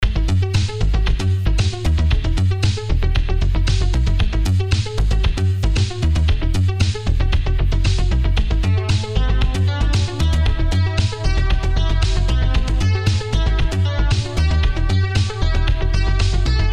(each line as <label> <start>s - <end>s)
heavy, pulsing bass line 0.0s - 16.7s